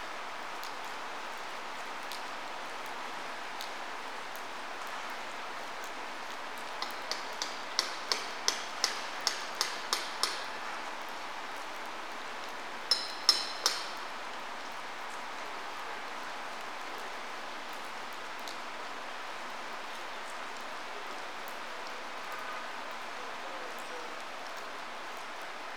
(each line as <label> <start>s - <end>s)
gentle summer shower 0.0s - 25.7s
stillicide dripping from the canopy 5.7s - 11.6s
original station building being renovated 6.8s - 10.7s